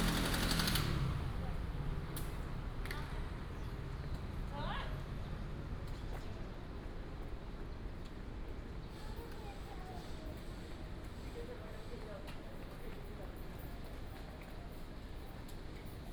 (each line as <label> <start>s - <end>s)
walking in the Street 0.0s - 16.1s